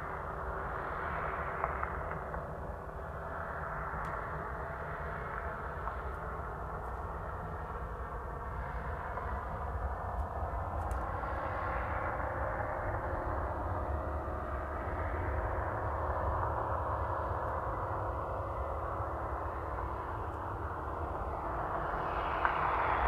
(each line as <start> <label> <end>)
0.0 jet passes high above 23.0